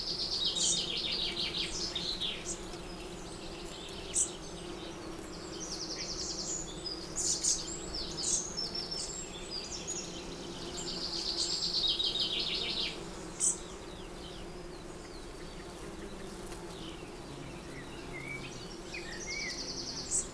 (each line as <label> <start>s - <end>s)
background noise 0.0s - 20.3s
bees 0.0s - 20.3s